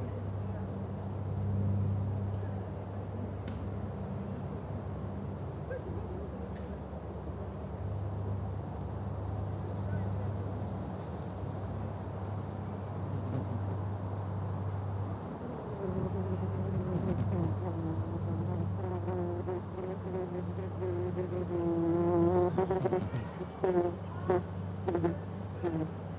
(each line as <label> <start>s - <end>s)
Mining bees going in and out of their burrow 13.0s - 14.0s
Mining bees going in and out of their burrow 15.8s - 26.1s